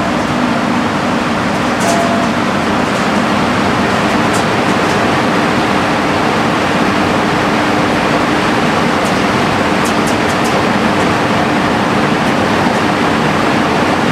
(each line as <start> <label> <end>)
0.0 Aircondition outside 14.1